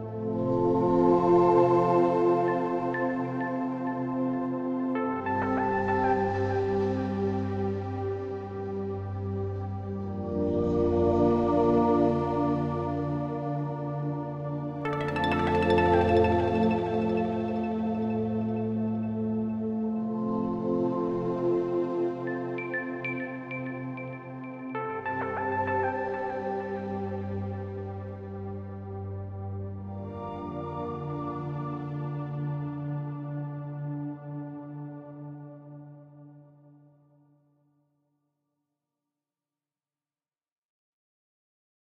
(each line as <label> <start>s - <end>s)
Warm and sad pad 14.6s - 33.1s